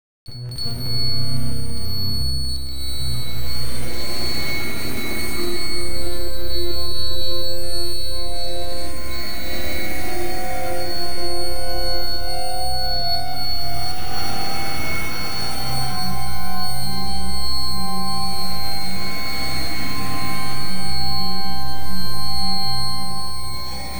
glitch 0.3 - 11.0

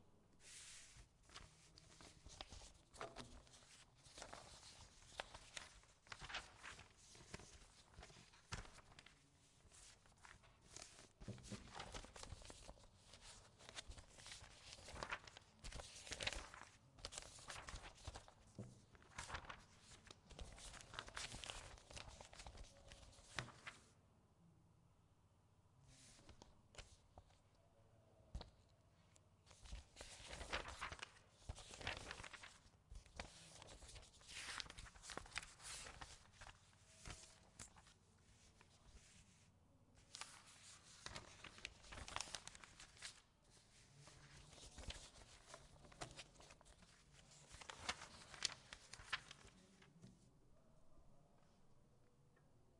paper long 0.4 - 23.9
paper long 25.9 - 27.4
paper long 29.4 - 50.3

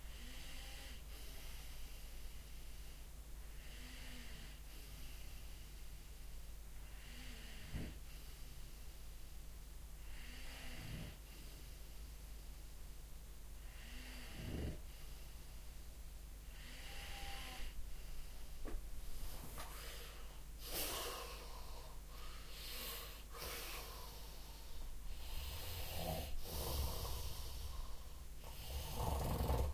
snore 0.1 - 1.7
snore 6.9 - 8.0
snore 10.1 - 11.2
snore 13.7 - 14.8
snore 16.6 - 17.8
snore 25.2 - 29.7

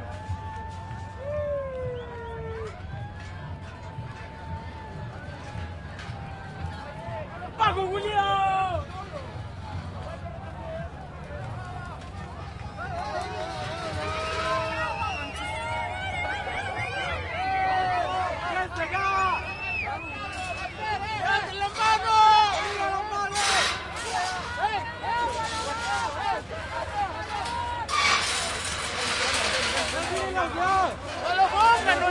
crowd 0.0 - 32.1

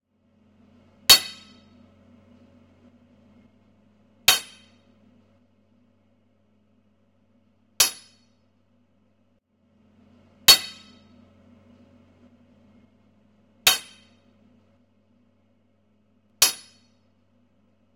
Hammering metal 1.1 - 1.8
Hammering metal 4.3 - 4.9
Hammering metal 7.8 - 8.3
Hammering metal 10.5 - 11.1
Hammering metal 13.7 - 14.2
Hammering metal 16.4 - 17.0

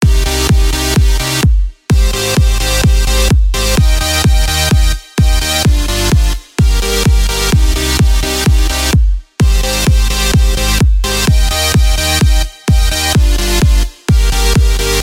Bass 0.0 - 15.0
Kick 0.0 - 15.0

